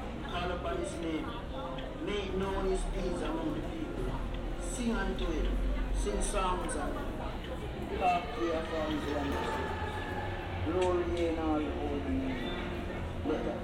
Jamaican pentecostal preacher on his boombox 0.0 - 7.2

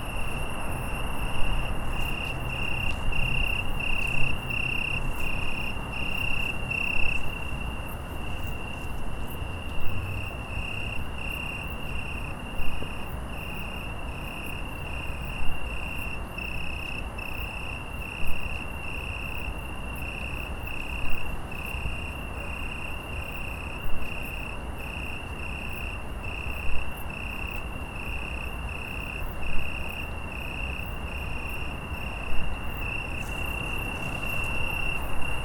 loud crickets 0.0 - 35.4

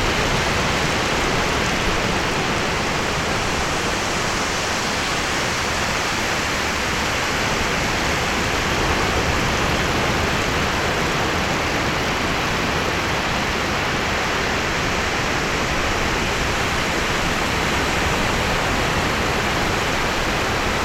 Ocean 0.0 - 20.8

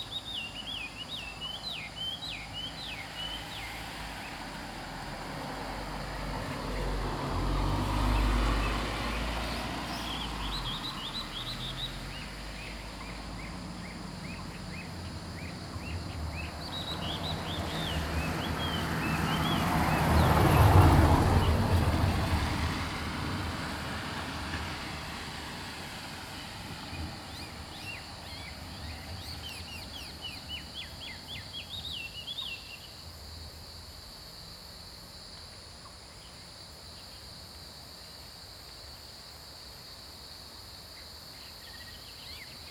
Cicada sounds 0.0 - 42.7

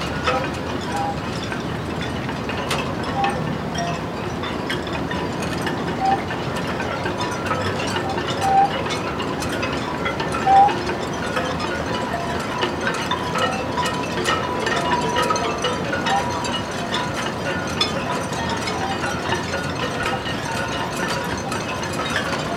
special transportation machine unloading a ship sideways 0.0 - 22.5

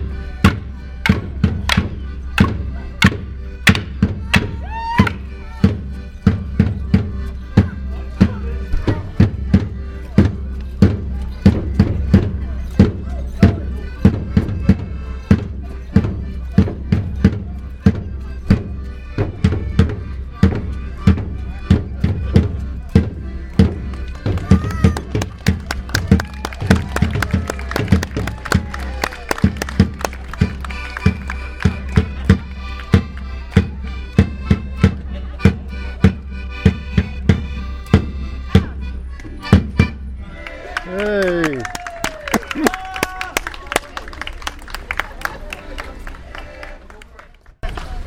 Morris Dancers 0.0 - 48.0

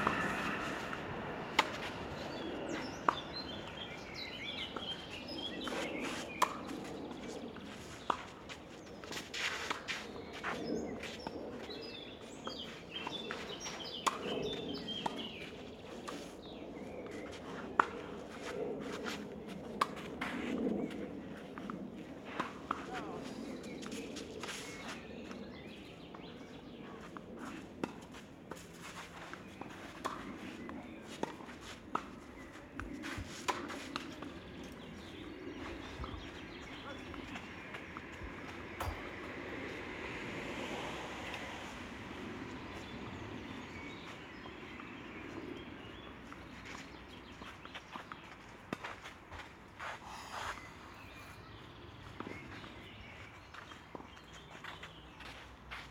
Spiel 0.0 - 2.4

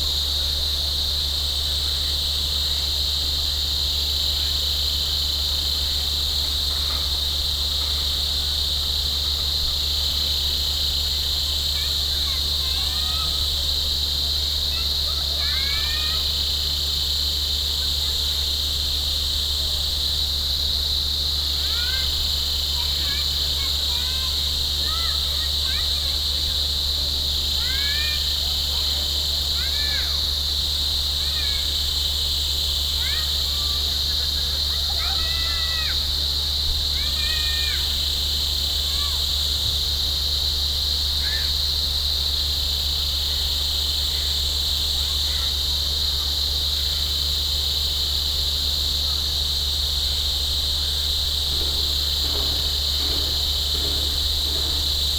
Cicadas 0.0 - 55.1

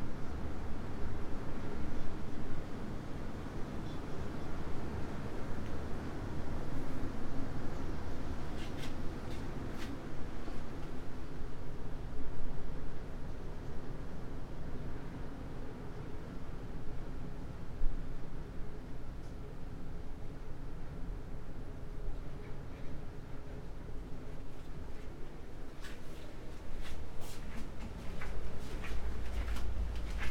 wind 0.0 - 30.3
steps 25.8 - 30.3

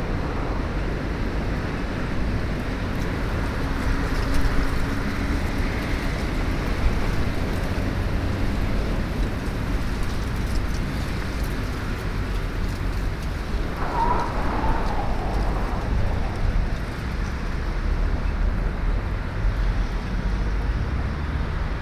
rare wind swooshes through the platform shed 0.0 - 19.7
train platform 13.6 - 17.6

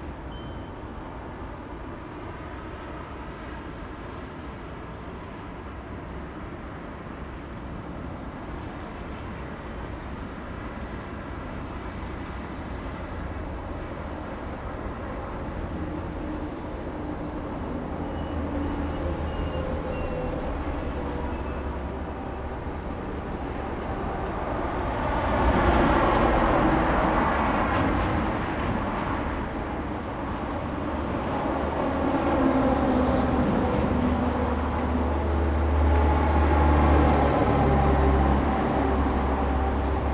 Traffic sound 7.2 - 40.1

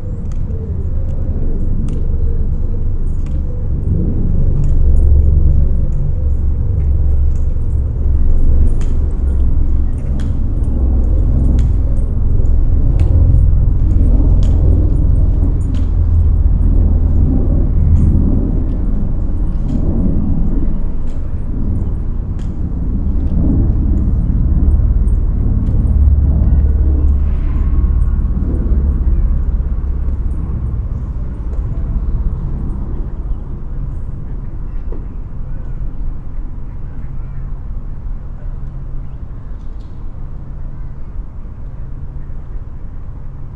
a jet plane 0.0 - 43.5

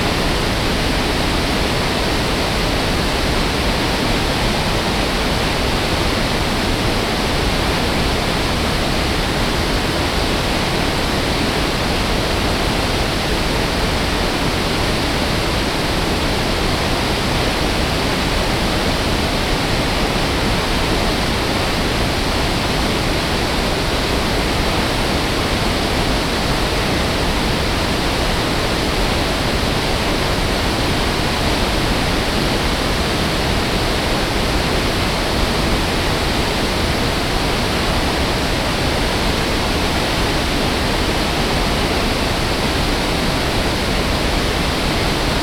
intense roar of the waterfall 0.0 - 45.4

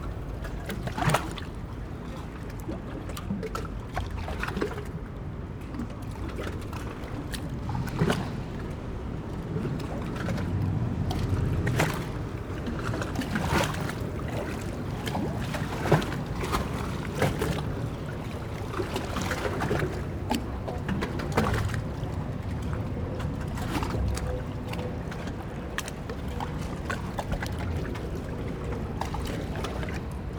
Hightide waves slopping against the wall 11.6 - 22.5

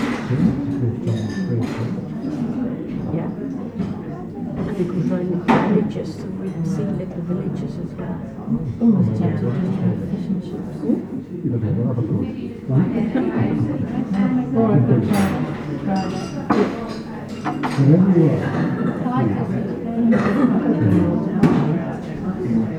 Voices 12.4 - 22.7

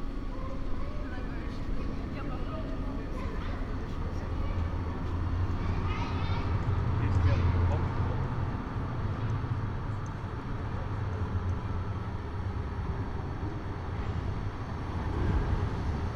many trams passing-by 0.0 - 16.1
pedestrians 0.0 - 16.1

